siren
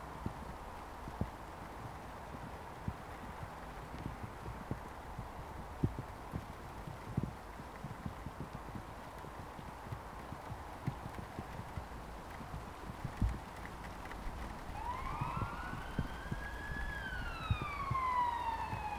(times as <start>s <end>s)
14.7s 18.9s